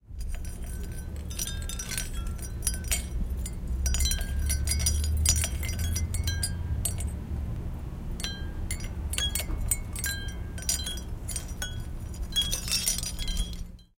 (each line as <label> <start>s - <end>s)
wind chimes 0.0s - 7.2s
wind chimes 8.2s - 13.9s